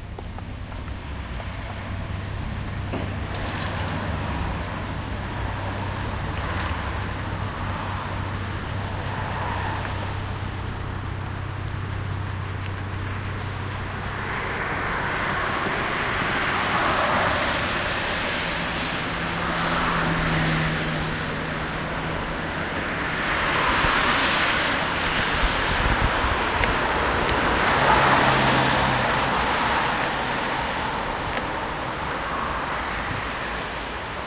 0.0s Walking 16.3s
0.0s traffic 34.2s
0.0s tram 34.2s

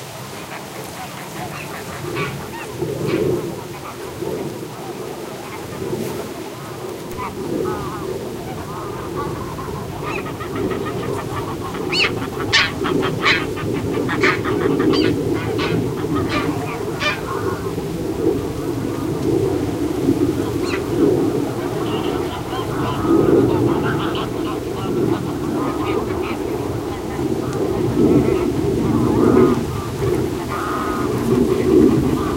0.0s wind on reed and grasses 32.3s
0.5s Greylag Geese honking 32.3s
6.8s airplane overheading 32.3s

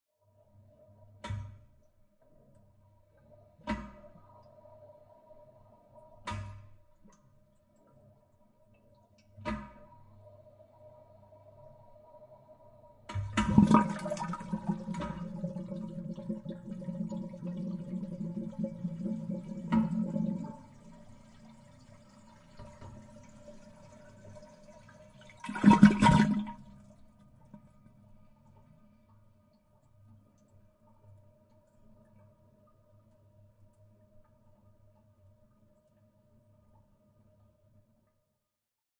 13.1s Flushing the Toilet 27.0s

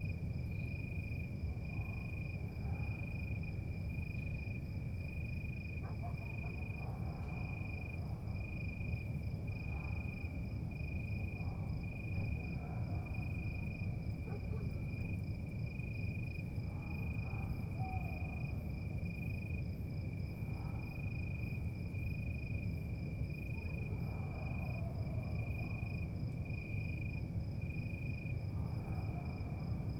0.0s Crickets 29.9s
5.8s Dogs barking 7.5s
14.2s Dogs barking 14.8s
17.3s brown Owl 18.2s

